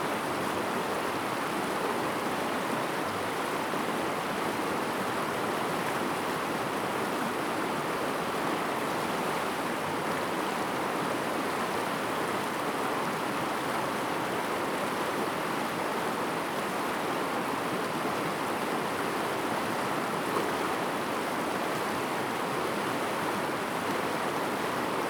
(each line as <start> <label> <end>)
0.0 stream sound 25.0